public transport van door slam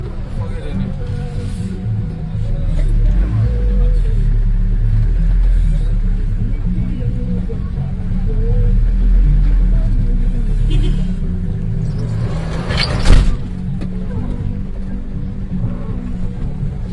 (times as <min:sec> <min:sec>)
0:12.4 0:13.6